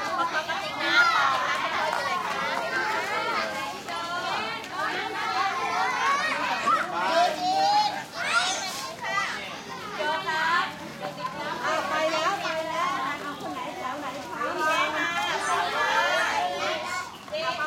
schoolchildren 0:00.0 - 0:17.6

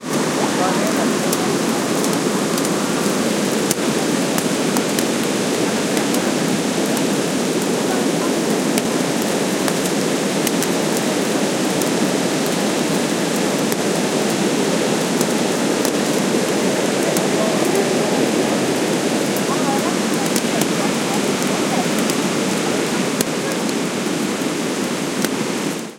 noise of raindrops falling on my umbrella 0:00.0 - 0:25.9
waterfall noise 0:00.0 - 0:25.9
talk 0:00.1 - 0:04.7
talk 0:05.6 - 0:09.0
talk 0:13.7 - 0:24.2

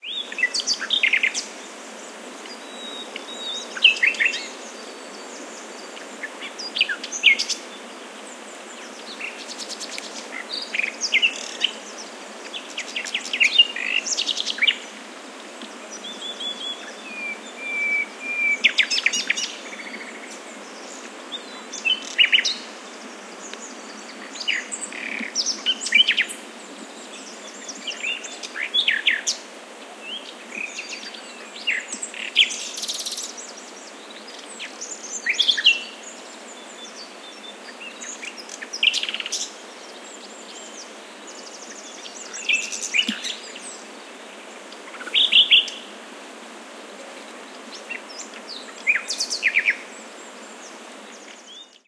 Nightingale singing in foreground 0:00.0 - 0:46.0
stream 0:00.0 - 0:51.8
Nightingale singing in foreground 0:47.2 - 0:51.8

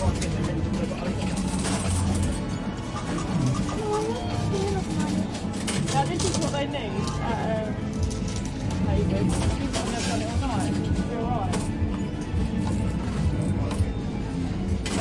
arcade coins falling 0:09.2 - 0:10.9

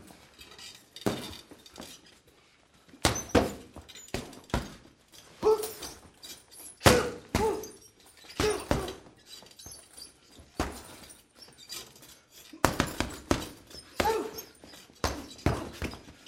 Punches on bag 0:03.0 - 0:04.8
Punches on bag 0:06.8 - 0:07.7
Punches on bag 0:08.4 - 0:09.0
Punches on bag 0:12.6 - 0:14.4
Punches on bag 0:15.0 - 0:16.0

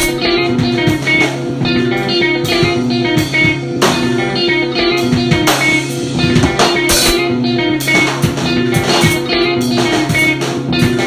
guitar 0:00.0 - 0:11.0

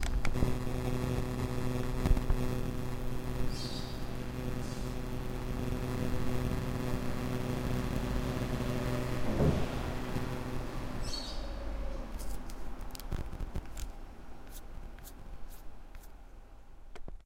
interference with the radio 0:00.0 - 0:11.1
birds 0:03.5 - 0:04.1
birds 0:11.0 - 0:12.1

